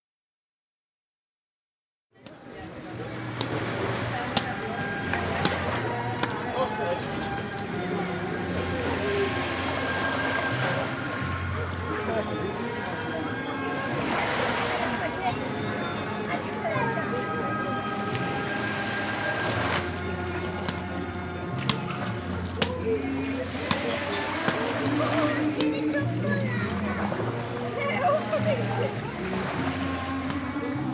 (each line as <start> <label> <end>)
2.1 music 30.9
2.2 people playing racket ball 8.1
18.0 people playing racket ball 18.5
19.8 people playing racket ball 29.2